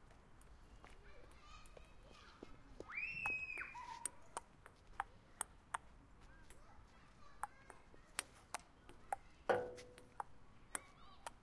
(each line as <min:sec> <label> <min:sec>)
0:00.0 Kids roaming around 0:11.4
0:03.2 Playing tabletennis 0:11.4